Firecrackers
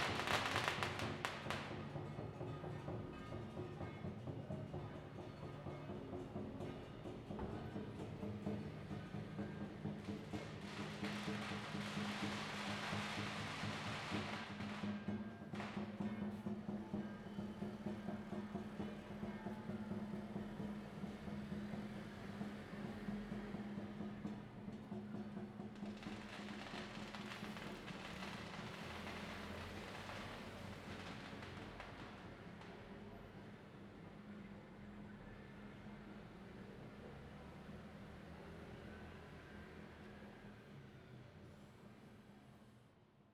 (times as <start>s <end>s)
0.0s 2.5s, 9.2s 19.3s, 24.2s 34.4s